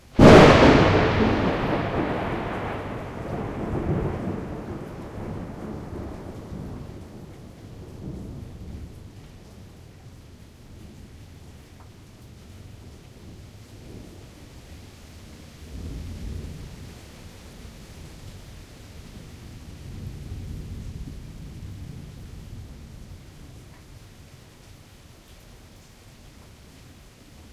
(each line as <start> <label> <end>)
0.1 Loud thunder clap 8.9